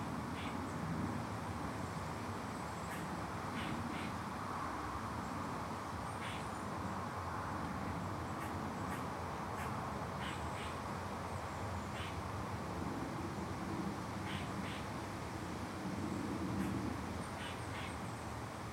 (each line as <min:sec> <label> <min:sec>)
0:00.0 traffic 0:18.7